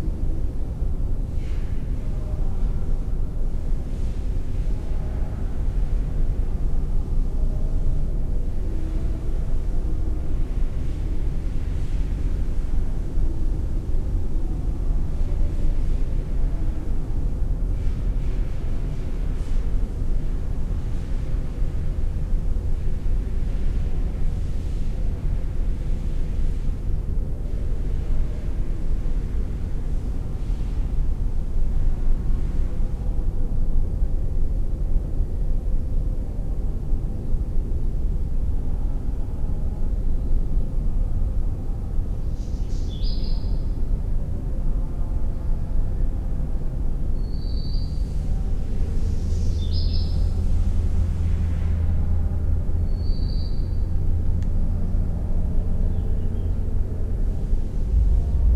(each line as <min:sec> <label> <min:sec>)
0:56.5 disused factory resonance 0:58.5